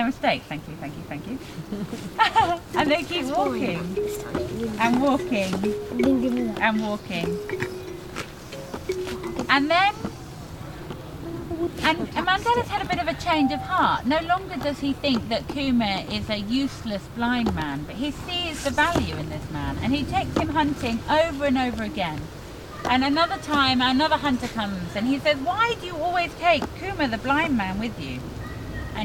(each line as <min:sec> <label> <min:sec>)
0:02.4 telling stories to children 0:08.0
0:11.2 telling stories to children 0:29.0